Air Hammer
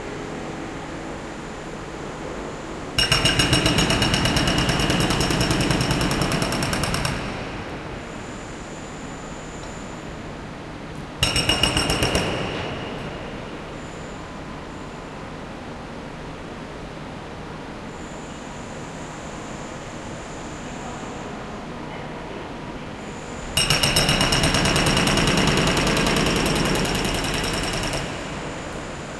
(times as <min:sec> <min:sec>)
0:03.0 0:07.7, 0:11.2 0:13.2, 0:23.6 0:28.7